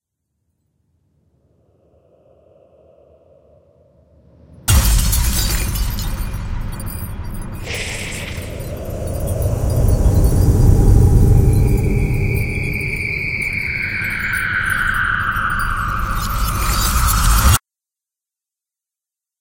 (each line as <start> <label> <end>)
7.6 ghost comes out of a mirror 17.6